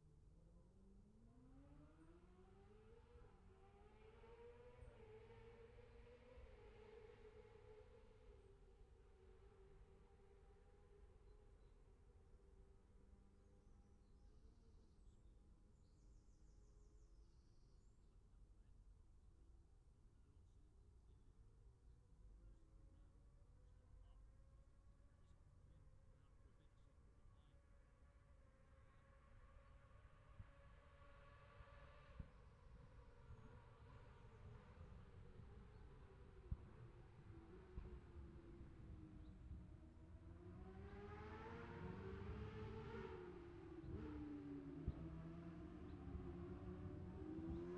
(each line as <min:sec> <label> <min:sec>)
0:30.5 motorcycle road racing 0:47.7